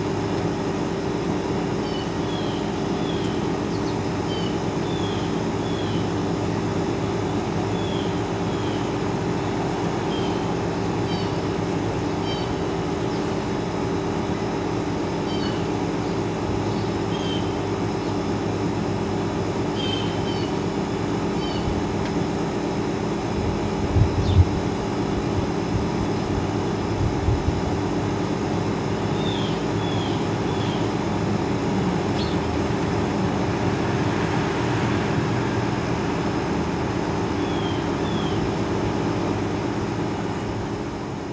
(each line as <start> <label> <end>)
0.0 noise from a nearby air conditioning unit 41.3
1.7 Blue jay calls 14.4
15.1 Blue jay calls 18.2
19.6 Blue jay calls 22.0
28.0 Blue jay calls 39.4